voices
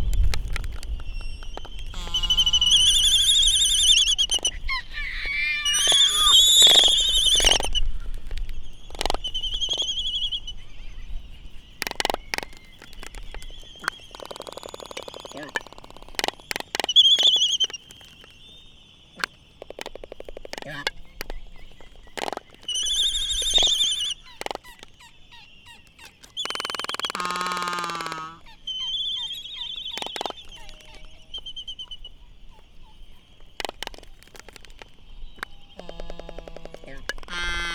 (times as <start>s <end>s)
8.9s 18.3s, 19.1s 37.7s